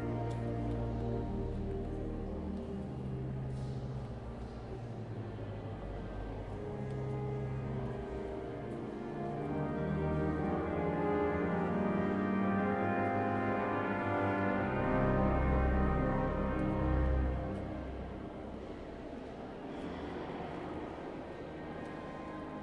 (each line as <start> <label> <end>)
0.0 organ playing 3.8
0.0 Visitors walking and talking 22.6
6.6 organ playing 18.6